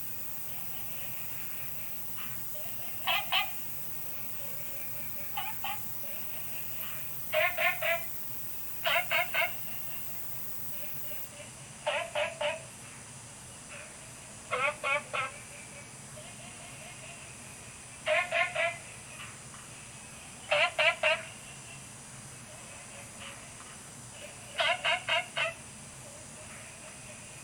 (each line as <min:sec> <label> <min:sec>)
0:00.0 Frogs chirping 0:11.3
0:00.0 Insects sounds 0:11.3